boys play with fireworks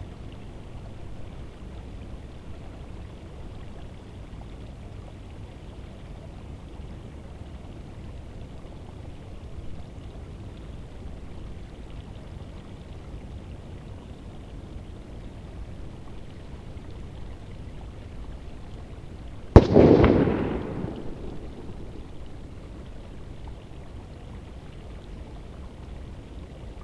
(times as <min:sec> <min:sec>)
0:19.6 0:22.2